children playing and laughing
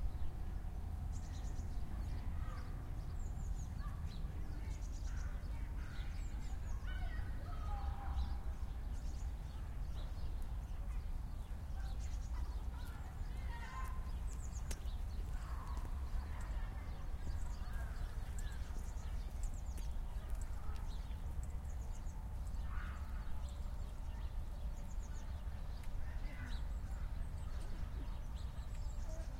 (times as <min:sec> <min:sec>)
0:10.8 0:19.2, 0:25.2 0:29.3